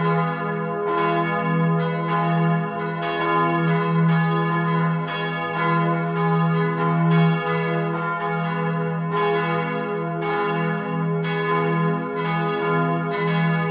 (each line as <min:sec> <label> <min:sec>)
0:00.0 noon bells on the bell tower 0:13.7